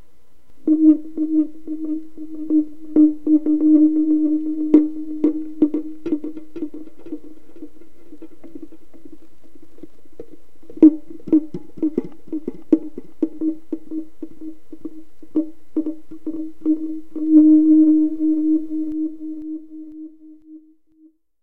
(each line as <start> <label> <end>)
0.6 flute-like sounds made from speaker-mic feedback 9.1
10.7 flute-like sounds made from speaker-mic feedback 21.2